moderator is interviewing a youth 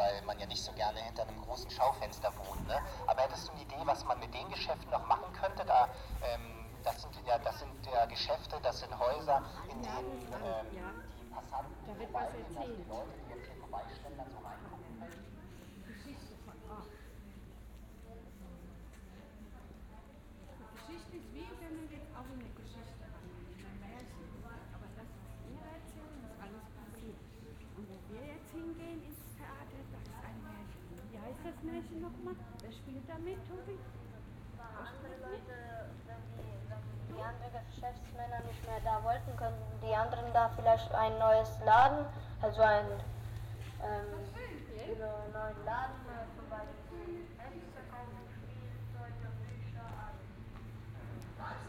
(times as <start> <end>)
0.0 14.7